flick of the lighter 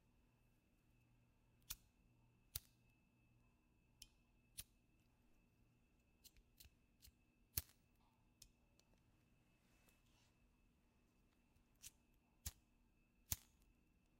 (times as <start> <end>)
1.6 1.9, 2.5 2.8, 6.2 7.8, 11.8 12.6, 13.2 13.7